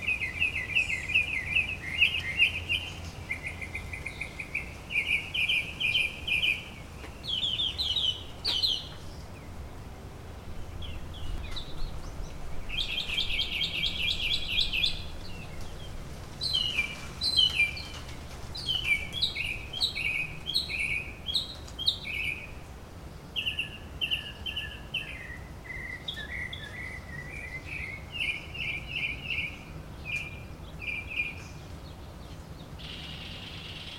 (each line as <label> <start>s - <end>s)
Mockingbirds 0.0s - 33.9s